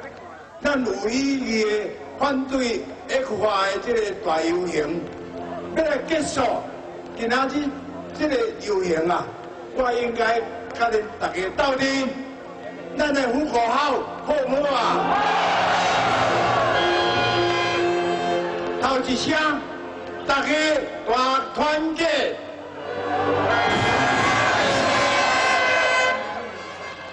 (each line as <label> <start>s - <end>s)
speech 0.0s - 15.0s
Protest 0.0s - 27.1s